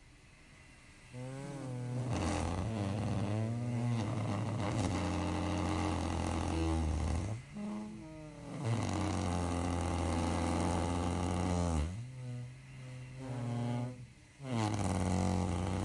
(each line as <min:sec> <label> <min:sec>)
0:00.0 decrepit Constant Positive Air Pressure sleeping machine 0:15.8
0:01.1 farts 0:15.8